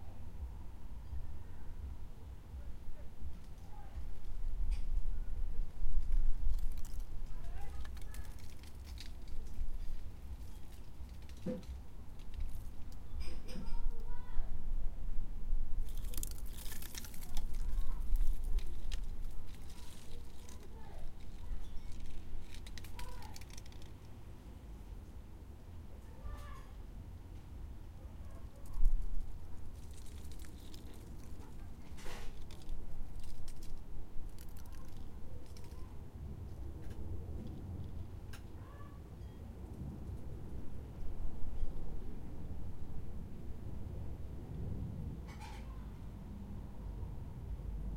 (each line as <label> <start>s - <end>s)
gentle breeze 0.0s - 47.9s
wind plays with some very dry leaves 0.0s - 47.9s
Setting the table outside 2.2s - 14.4s
wodden garden parasol creaks and squeaks slightly 5.9s - 14.2s
Setting the table outside 15.8s - 25.3s
wodden garden parasol creaks and squeaks slightly 15.8s - 24.2s
Setting the table outside 26.0s - 42.2s
wodden garden parasol creaks and squeaks slightly 28.2s - 36.0s
Setting the table outside 45.0s - 46.1s
wodden garden parasol creaks and squeaks slightly 45.2s - 45.9s